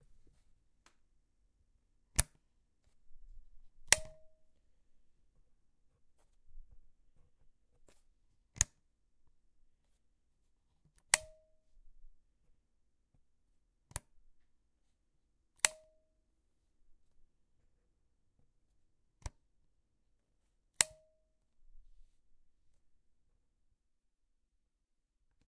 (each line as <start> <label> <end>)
3.9 Light switch with two elements, one bassy and one resonant 4.4
11.1 Light switch with two elements, one bassy and one resonant 11.5
15.6 Light switch with two elements, one bassy and one resonant 16.0
20.8 Light switch with two elements, one bassy and one resonant 21.1